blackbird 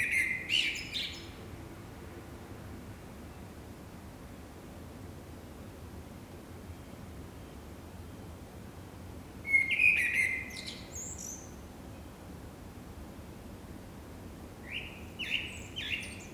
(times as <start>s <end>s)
0.0s 1.3s, 9.5s 11.5s, 14.7s 16.3s